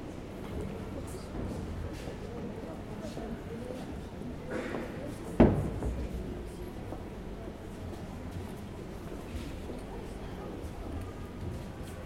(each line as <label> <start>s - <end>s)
Parisian Metro 0.0s - 12.0s
people 0.0s - 12.0s